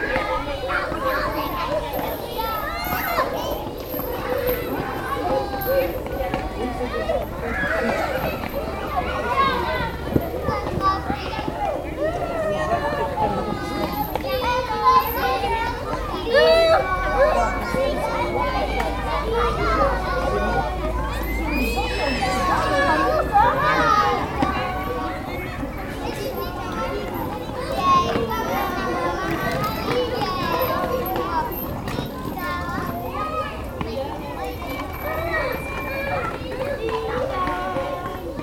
Children playing 0:00.0 - 0:38.4

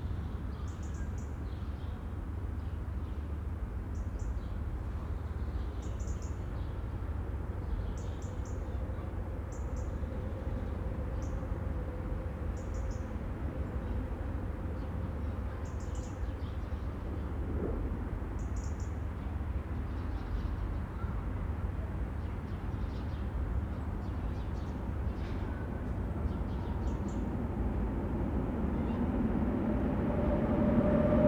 U-Bahn reverberation from multiple directions 0:25.2 - 0:31.2

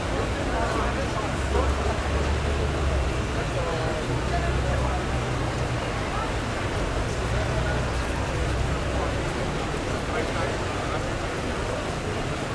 street sounds 0:00.0 - 0:12.5

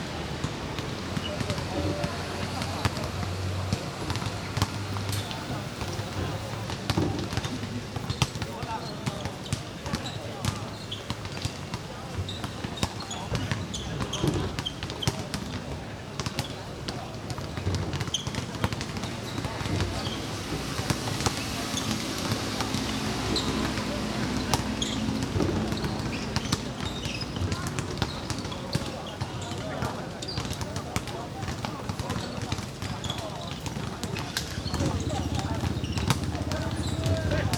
Play basketball 0:00.5 - 0:11.8
Play basketball 0:30.3 - 0:37.5

